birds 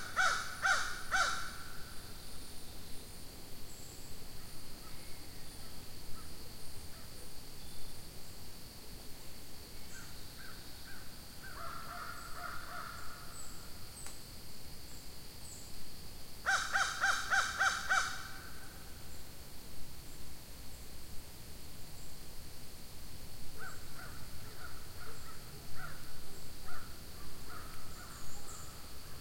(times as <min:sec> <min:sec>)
0:23.6 0:29.2